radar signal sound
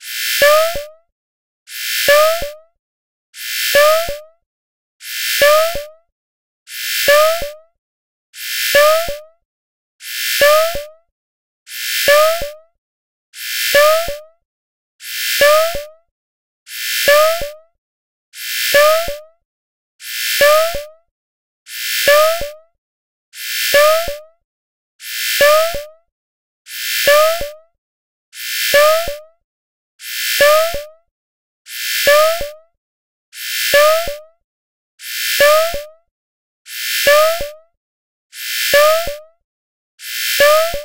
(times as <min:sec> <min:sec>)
0:01.9 0:02.4, 0:03.5 0:04.1, 0:05.2 0:05.8, 0:06.9 0:07.5, 0:08.5 0:09.1, 0:10.2 0:10.8, 0:11.9 0:12.4, 0:13.6 0:14.1, 0:16.9 0:17.4, 0:18.5 0:19.1, 0:20.2 0:20.8, 0:21.9 0:22.4, 0:23.6 0:24.1, 0:25.1 0:25.8, 0:26.8 0:27.4, 0:28.4 0:29.1, 0:30.1 0:30.8, 0:31.8 0:32.4, 0:33.5 0:34.1, 0:35.1 0:35.8, 0:36.8 0:37.4, 0:38.4 0:39.1, 0:40.1 0:40.8